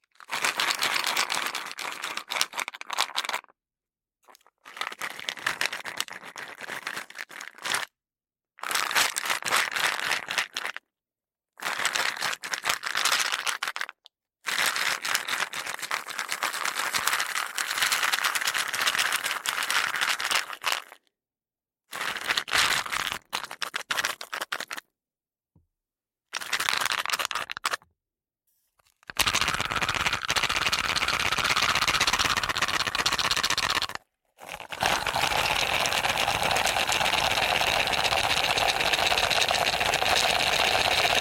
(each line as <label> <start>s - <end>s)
wooden box filled with small stones shaking 0.3s - 3.5s
wooden box filled with small stones shaking 29.1s - 41.2s